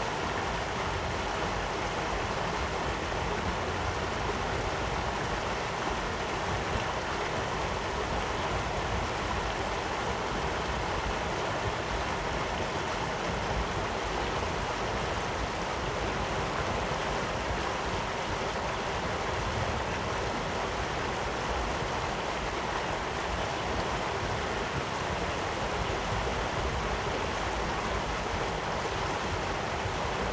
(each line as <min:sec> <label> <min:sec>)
0:00.0 water 0:30.3